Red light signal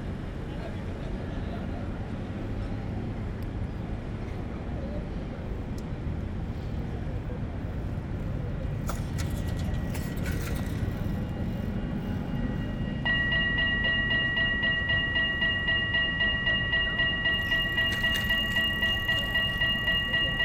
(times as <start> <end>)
17.0 20.4